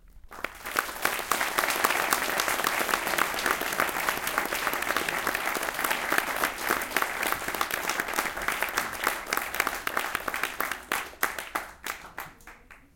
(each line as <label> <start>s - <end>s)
applause 0.0s - 12.9s